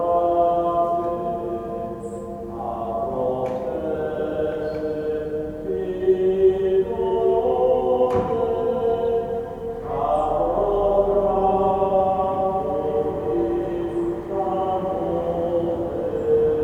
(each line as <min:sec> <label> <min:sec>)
0:00.0 Vesper choirs 0:16.6